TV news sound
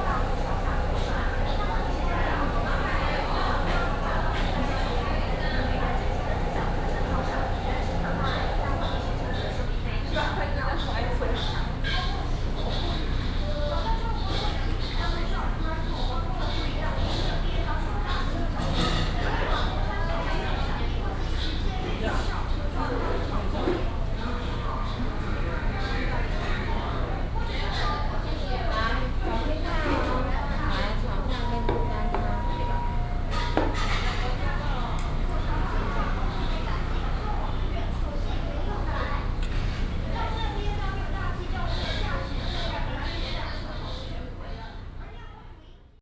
0.0s 11.0s

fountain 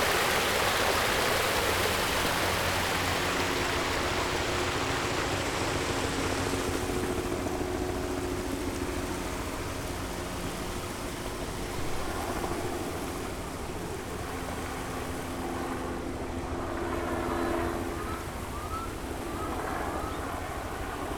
0.0s 7.2s

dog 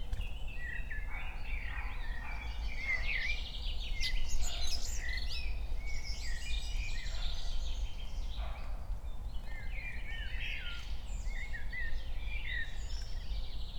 1.1s 3.1s

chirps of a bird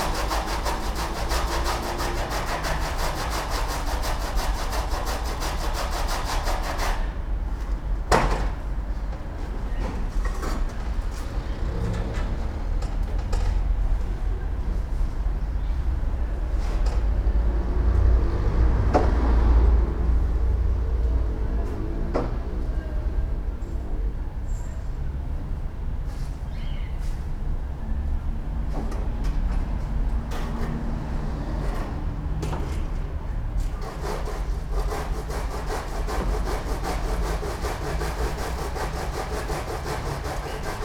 26.5s 27.0s

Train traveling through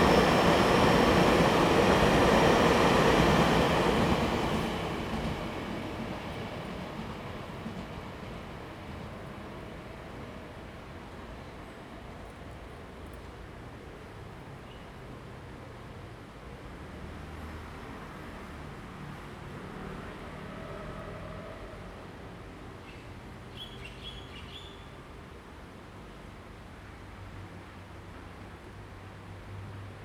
0.0s 14.5s

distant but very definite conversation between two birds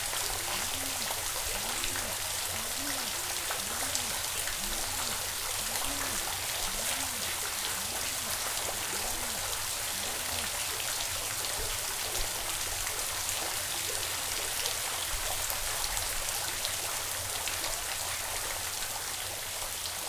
0.0s 11.2s

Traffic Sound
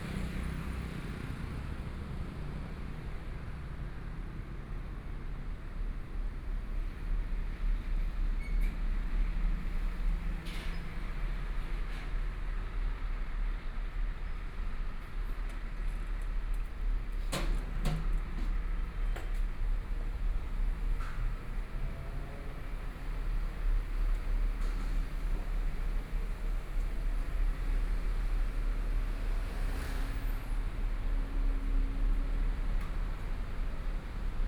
14.4s 34.4s

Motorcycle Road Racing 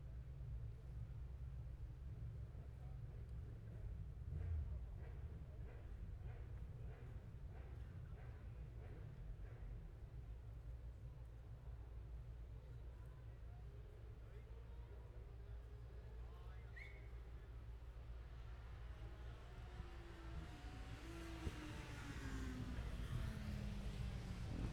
19.6s 24.7s

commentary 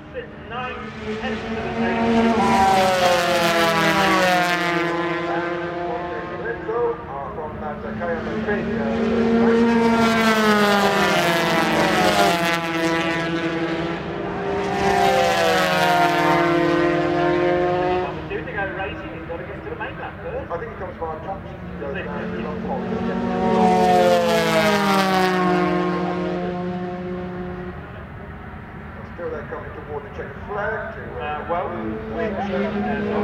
0.0s 4.3s, 4.9s 10.3s, 17.9s 24.6s, 29.0s 33.2s

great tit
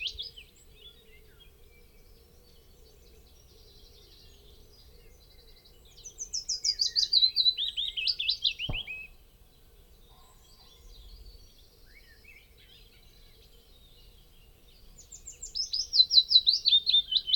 8.7s 9.2s

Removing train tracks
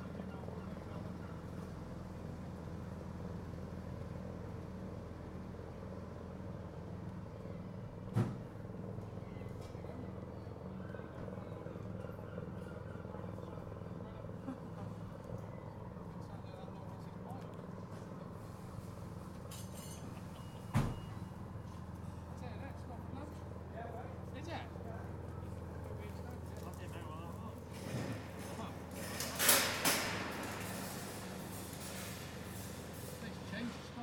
27.6s 34.0s

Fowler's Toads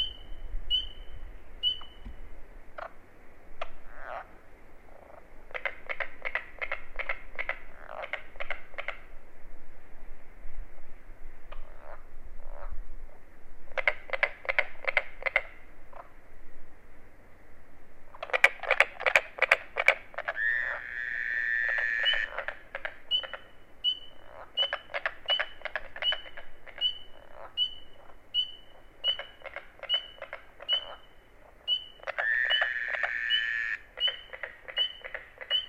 18.2s 35.6s

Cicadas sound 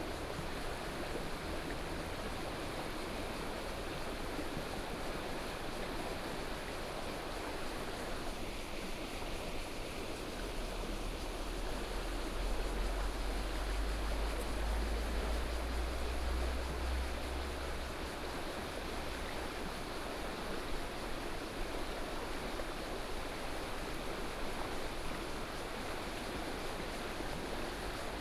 10.4s 21.5s

